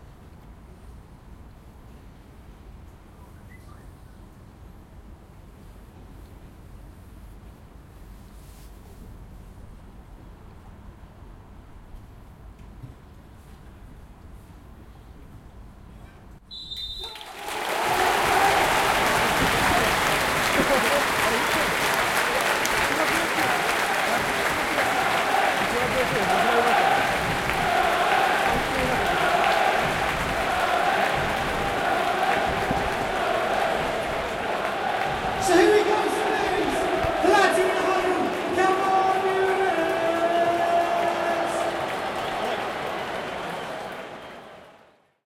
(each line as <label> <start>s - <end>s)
Crowd cheer 17.0s - 45.2s